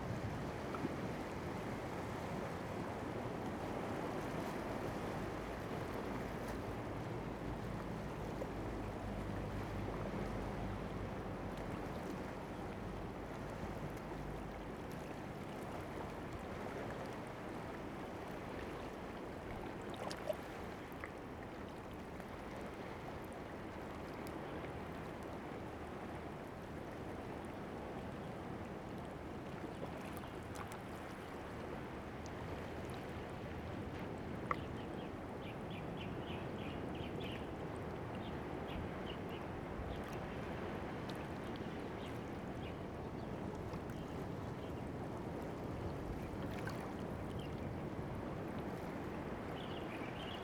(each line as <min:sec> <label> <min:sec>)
0:00.0 waves 0:50.4